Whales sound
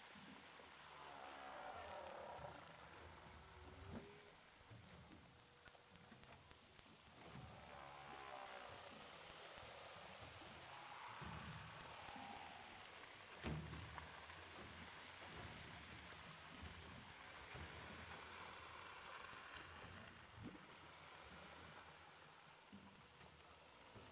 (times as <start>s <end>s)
0.2s 4.3s, 7.2s 15.8s